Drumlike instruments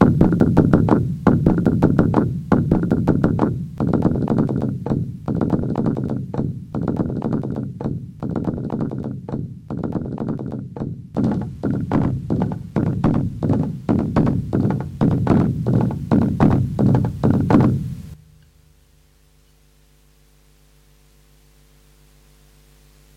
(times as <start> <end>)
0.0 18.3